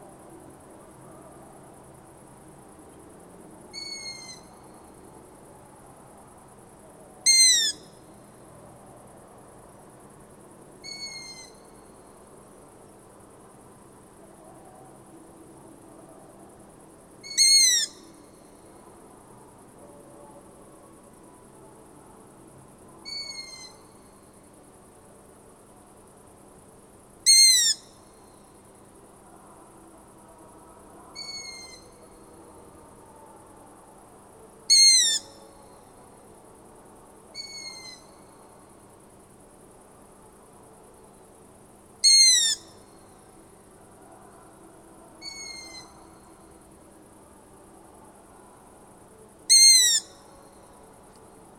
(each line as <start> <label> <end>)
3.7 Long-eared Owl 4.8
7.2 Long-eared Owl 8.0
10.8 Long-eared Owl 11.8
17.2 Long-eared Owl 18.2
23.0 Long-eared Owl 24.1
27.2 Long-eared Owl 28.1
31.1 Long-eared Owl 32.2
34.6 Long-eared Owl 35.8
37.3 Long-eared Owl 38.4
42.0 Long-eared Owl 43.2
45.2 Long-eared Owl 46.4
49.5 Long-eared Owl 50.7